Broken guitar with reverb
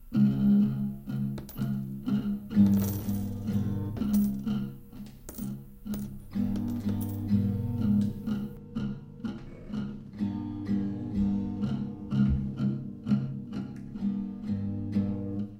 6.4 15.5

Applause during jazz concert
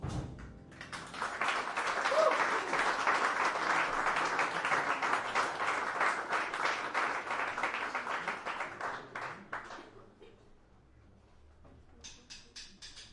0.0 10.1

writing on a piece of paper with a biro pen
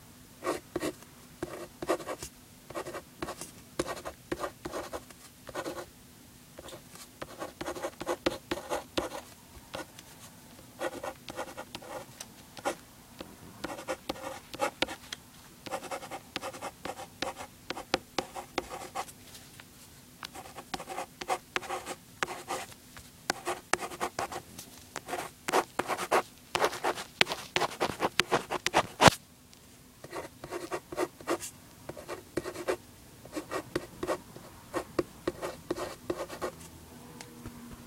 13.6 15.0, 15.6 19.1

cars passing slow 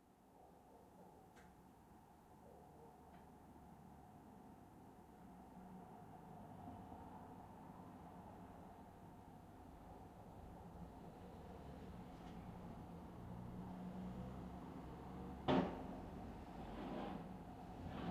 6.1 18.1

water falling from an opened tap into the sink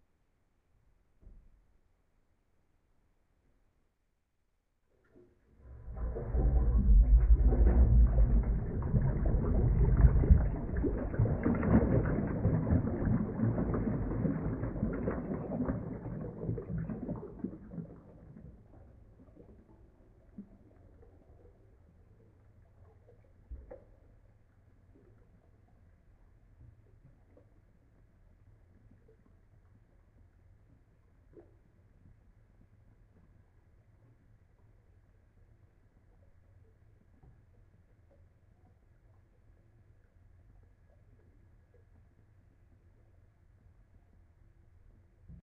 5.0 24.1

